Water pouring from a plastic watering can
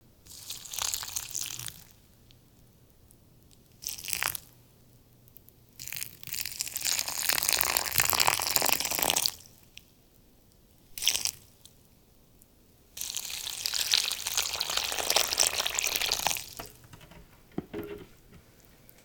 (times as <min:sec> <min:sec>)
0:13.6 0:18.1